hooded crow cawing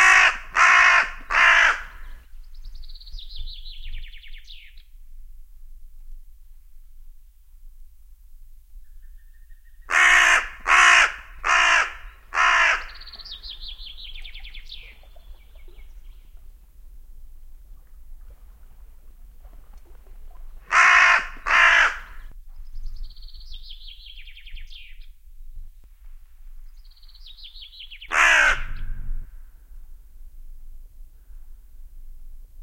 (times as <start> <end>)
0.0 2.2, 9.9 13.3, 20.7 22.3, 28.1 28.8